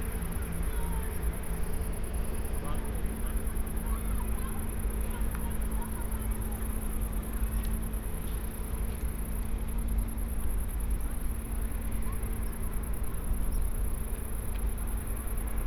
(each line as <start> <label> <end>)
0.0 crickets 15.6